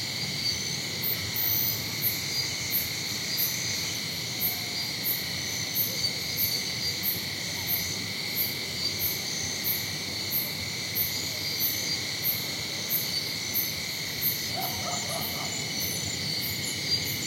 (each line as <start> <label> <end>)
0.0 cicada 17.2